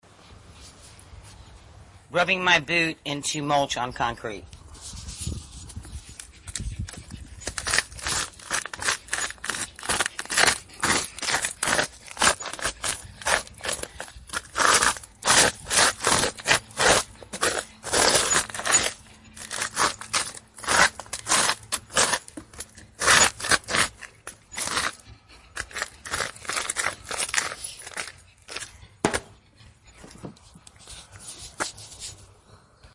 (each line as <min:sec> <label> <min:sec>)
0:07.4 Rubber bottomed boot crushing wood mulch on the concrete 0:29.3